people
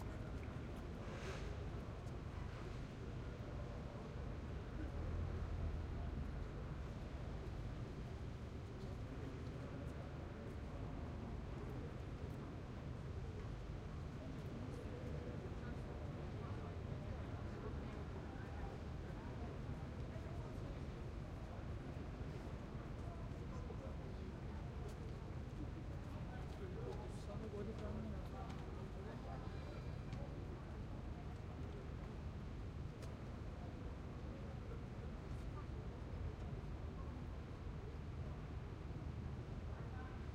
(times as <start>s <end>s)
14.3s 32.1s